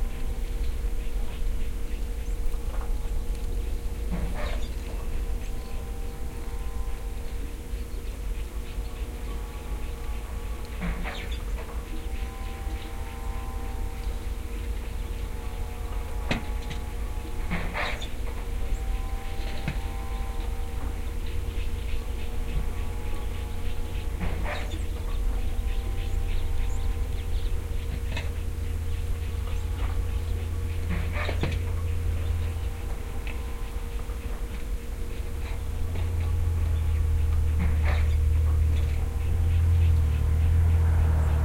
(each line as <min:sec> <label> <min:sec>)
0:00.0 birds 0:41.4
0:04.0 cows 0:07.8
0:09.0 cows 0:41.4